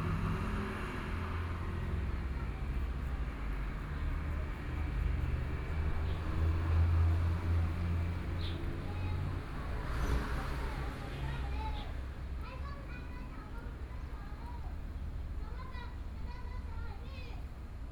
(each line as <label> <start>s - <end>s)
Traffic Sound 0.0s - 17.7s